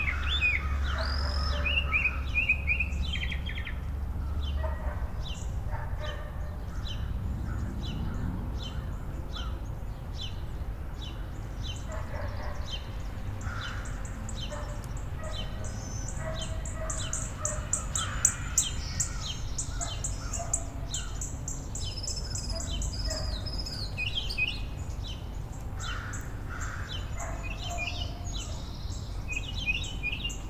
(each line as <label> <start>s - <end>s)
birds 0.0s - 30.4s
dog 5.7s - 6.4s
dog 11.9s - 12.7s
dog 14.5s - 15.5s
dog 16.2s - 17.7s
dog 19.8s - 20.7s
dog 22.5s - 23.5s
dog 27.2s - 28.3s